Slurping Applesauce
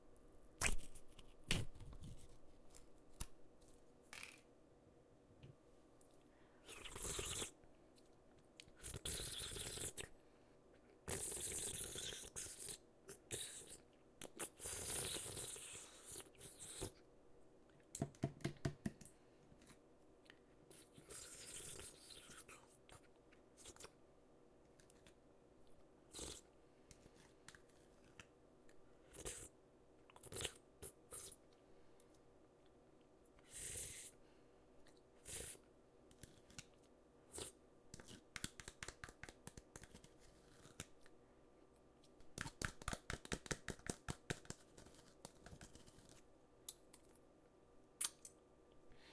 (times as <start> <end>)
6.6 7.6